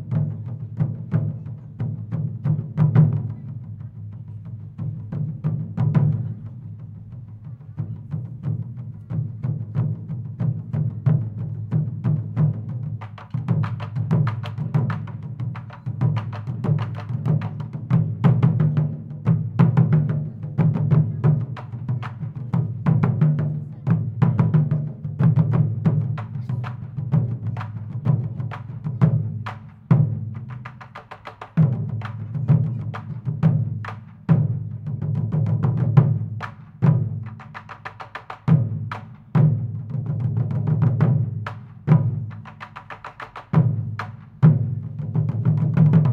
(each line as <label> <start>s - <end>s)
traditional Japanese drums played 0.0s - 46.1s
sounds from the city around 41.3s - 45.1s